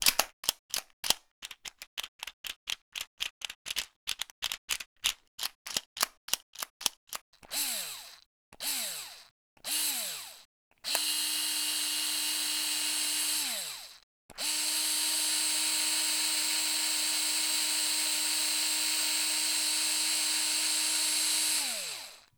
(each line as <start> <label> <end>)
0.0 Little plastic clicks as the bit is put in place 2.3
3.0 Little plastic clicks as the bit is put in place 7.2
7.5 motor spinning 22.3